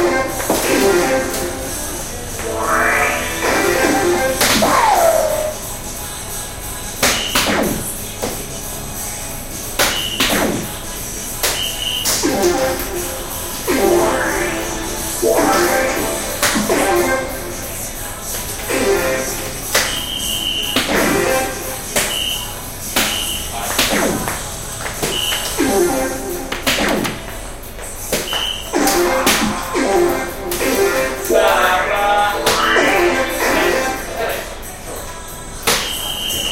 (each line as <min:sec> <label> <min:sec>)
0:00.0 background music 0:36.5
0:02.4 electronic darts 0:05.7
0:07.0 electronic darts 0:08.4
0:09.8 electronic darts 0:10.8
0:11.4 electronic darts 0:17.7
0:19.7 electronic darts 0:27.4
0:28.1 electronic darts 0:34.0